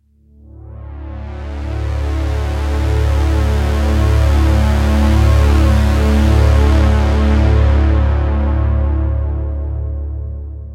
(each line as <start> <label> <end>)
0.1 Pulse/Swell made with Juno-60 Syntehsizer 10.7